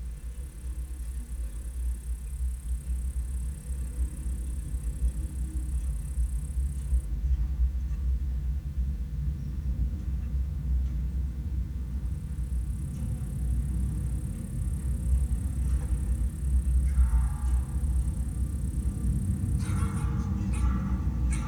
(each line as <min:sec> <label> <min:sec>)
0:12.2 wire holding abandoned metallic water tower 0:21.4